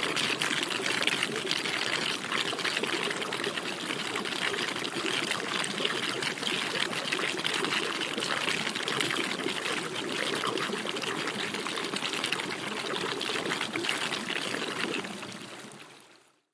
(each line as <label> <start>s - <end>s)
Dropping Water 0.0s - 15.8s
Fountain Reflux 0.0s - 15.9s